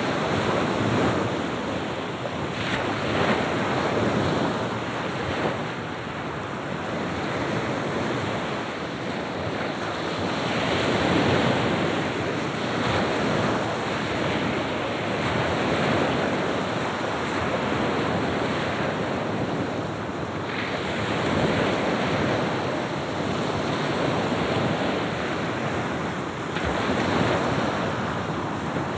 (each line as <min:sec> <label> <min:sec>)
0:00.0 Sea waves 0:28.9